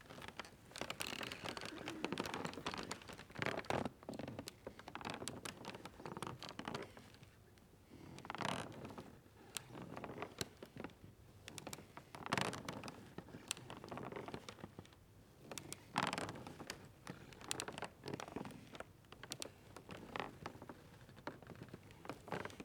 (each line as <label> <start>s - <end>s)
Creaky floor 0.1s - 3.7s